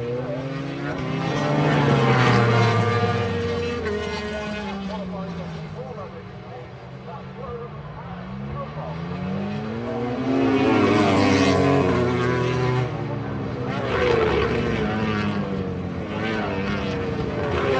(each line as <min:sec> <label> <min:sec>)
0:00.0 commentary 0:12.0